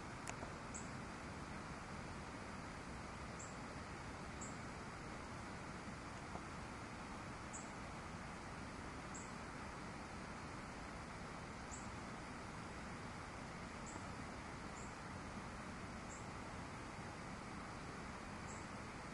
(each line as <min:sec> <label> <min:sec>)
0:00.0 river 0:19.1
0:00.0 birds 0:01.0
0:03.1 birds 0:03.7
0:04.3 birds 0:05.0
0:06.1 birds 0:09.5
0:11.5 birds 0:12.5
0:13.5 birds 0:16.7
0:18.2 birds 0:19.1